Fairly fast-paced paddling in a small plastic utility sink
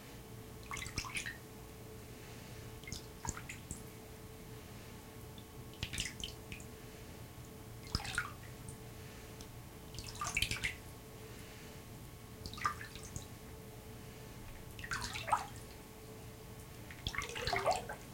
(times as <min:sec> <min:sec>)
0:16.9 0:18.1